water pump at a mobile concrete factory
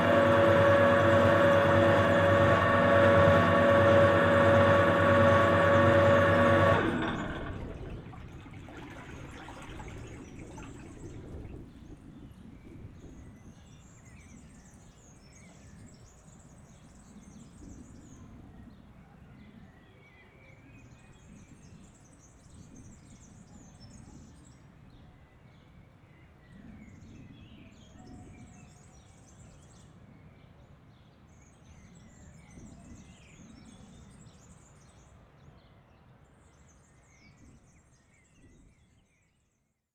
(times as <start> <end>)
0.0 12.0